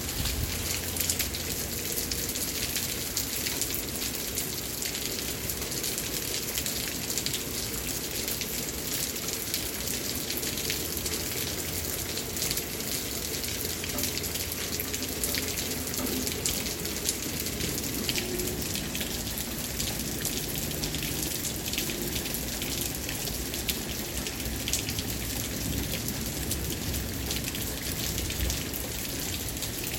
Heavy rain on wooden surface 0:00.0 - 0:29.9

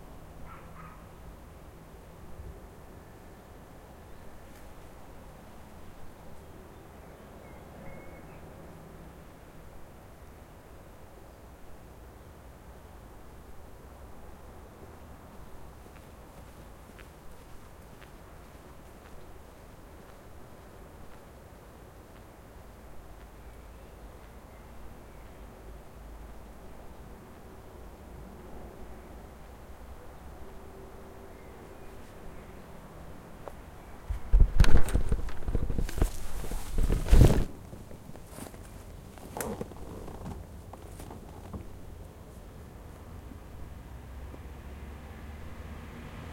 birds 0:00.3 - 0:01.4
birds 0:02.6 - 0:09.0
birds 0:15.0 - 0:27.8

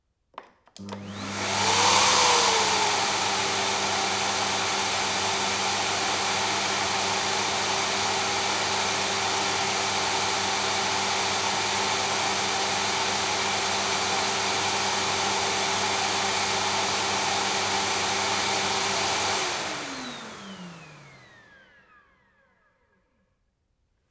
Vacuum cleaner 0:00.8 - 0:23.1

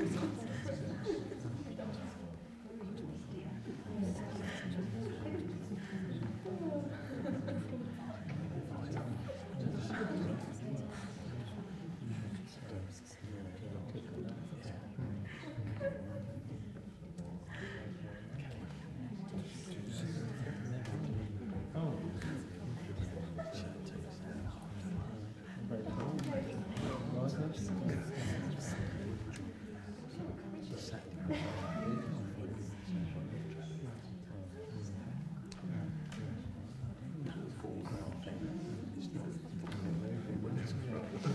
people quietly chatting 0:00.0 - 0:41.3

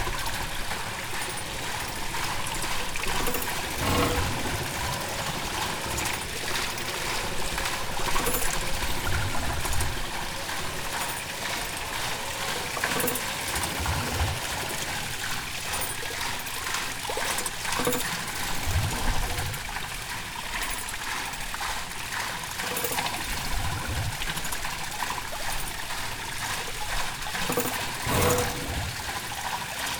water wheel 0:00.0 - 0:29.9
gurgle 0:01.1 - 0:11.2
gurgle 0:27.3 - 0:29.9

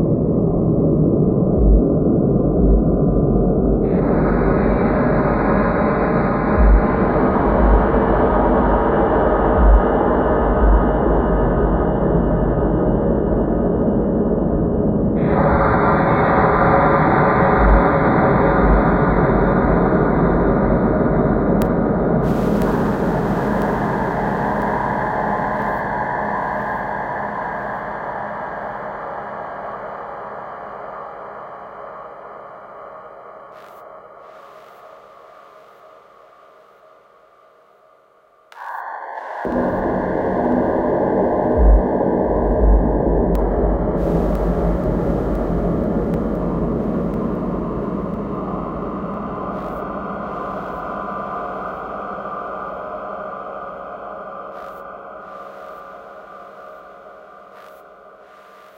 triple osc 0:38.5 - 0:51.3

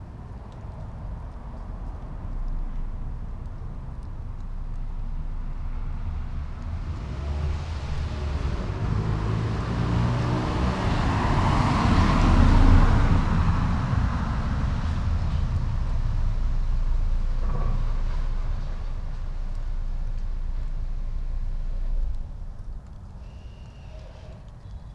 car driving over a drain cover 0:04.2 - 0:23.2
Car driving past, from right to left 0:04.8 - 0:24.4

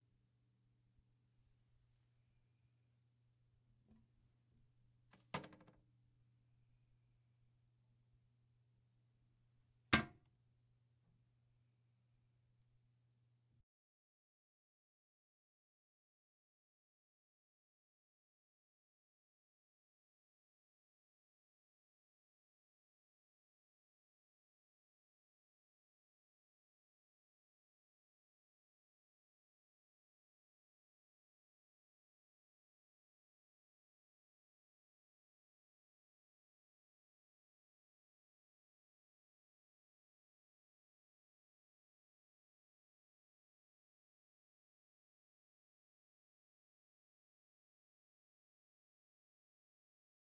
toilet seat 0:05.2 - 0:05.8
toilet seat 0:10.0 - 0:10.2

